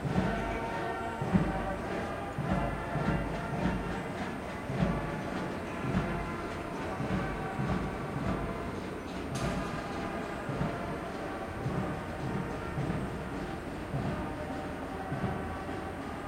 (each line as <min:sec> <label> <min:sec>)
0:00.0 Marching band passing by 0:16.2